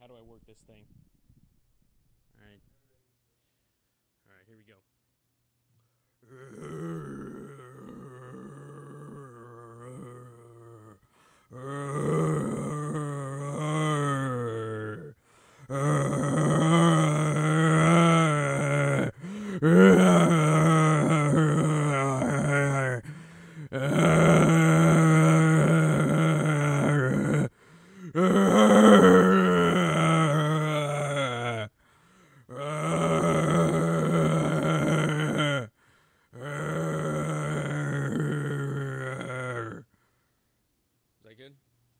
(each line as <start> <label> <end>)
11.5 zombie 31.7
32.5 zombie 35.7
36.4 zombie 39.9